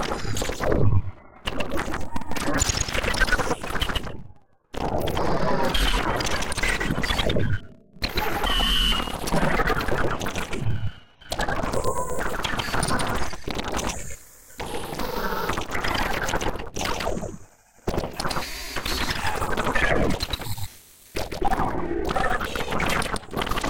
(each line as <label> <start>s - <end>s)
whisper 0.0s - 4.1s